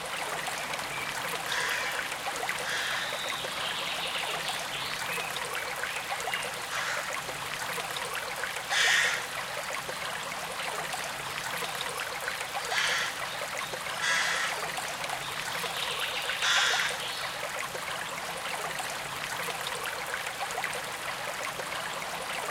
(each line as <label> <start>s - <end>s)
Gentle Stream 0.0s - 22.5s